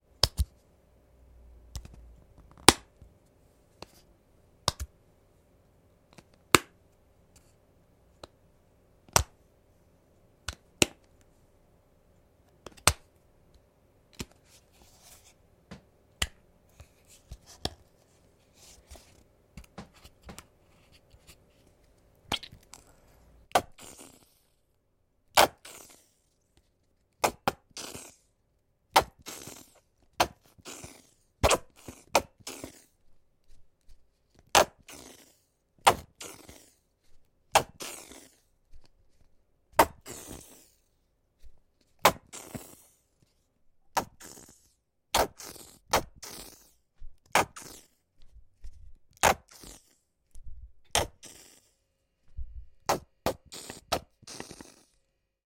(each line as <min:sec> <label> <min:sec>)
0:50.9 Ketchup bottle open and close and squeeze 0:51.7
0:52.9 Ketchup bottle open and close and squeeze 0:55.0